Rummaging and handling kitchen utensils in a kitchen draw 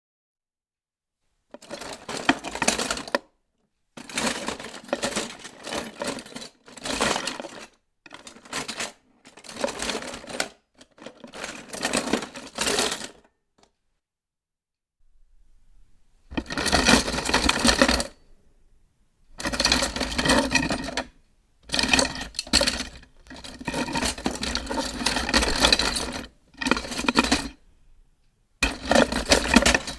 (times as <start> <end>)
15.4 18.4, 19.3 28.0, 28.6 29.9